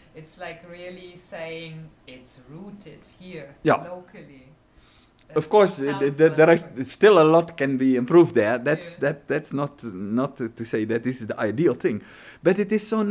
0.0s interview 4.5s
5.2s interview 13.1s

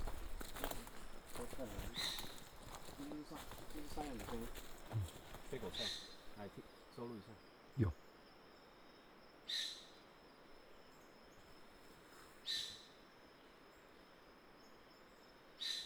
0.0s goat sound 6.6s
0.0s Footsteps 6.6s

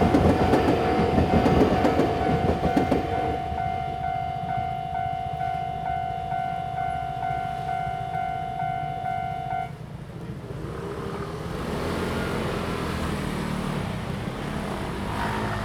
0.0s Traffic sound 15.6s
0.0s Train traveling through 15.6s

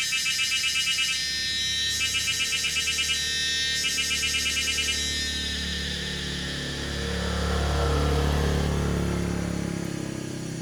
0.1s Cicadas sound 10.6s
4.9s Traffic Sound 10.6s

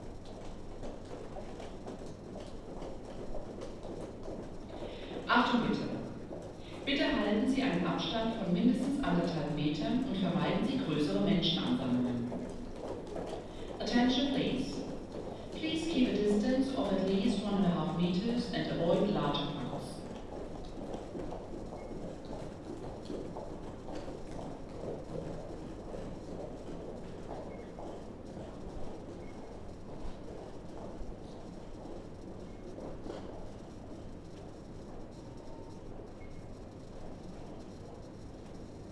6.8s Corona Anouncement 12.4s
11.5s people are passing 17.8s
13.7s Corona Anouncement 20.1s

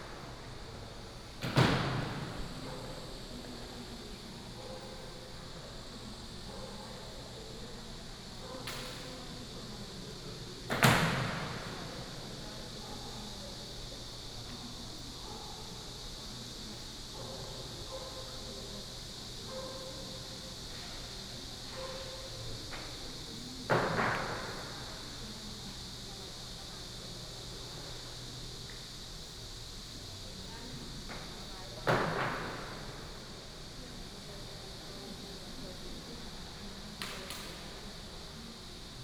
0.0s Cicadas 39.0s

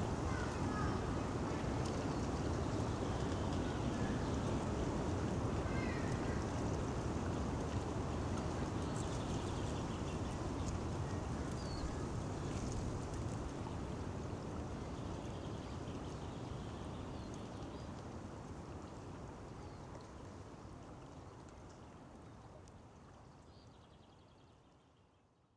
0.0s windy day 15.8s
0.0s river 25.5s

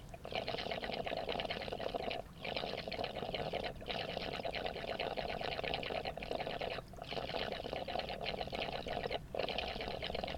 0.0s gurgling irrigation pipe 10.3s

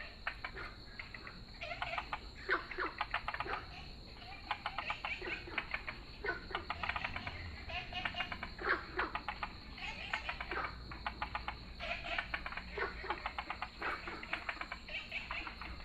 0.0s Frogs chirping 15.8s

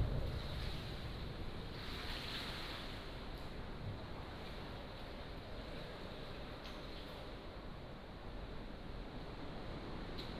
1.6s waves 3.4s

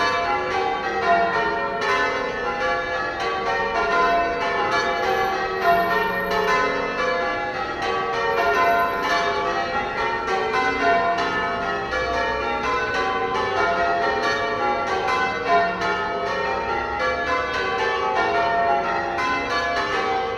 0.0s bells ringing 20.3s

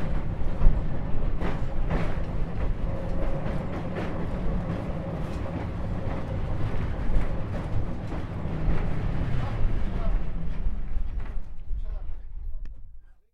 0.0s Tramway N5, test drive 12.8s

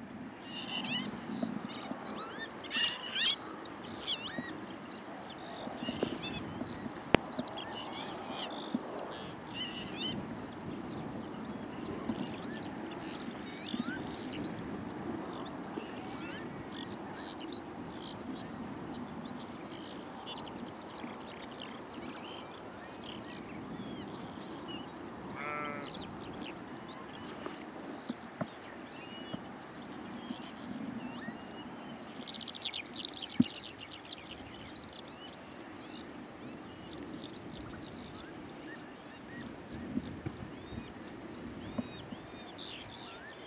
0.0s Skylarks 43.4s

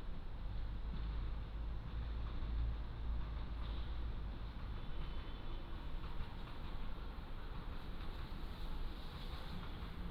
0.0s Train arrives and leaves 10.1s

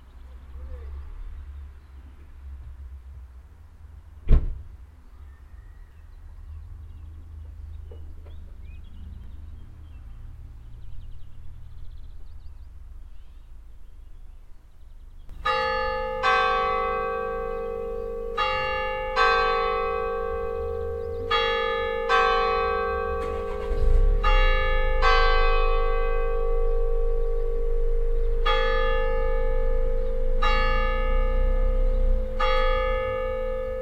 4.2s slamming of some car doors nearby 4.8s
22.1s slamming of some car doors nearby 25.9s

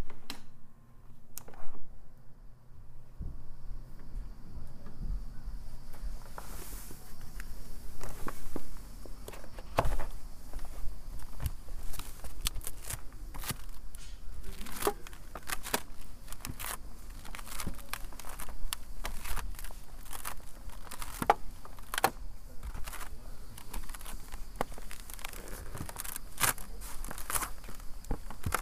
3.0s Squirrels On My Roof 28.6s

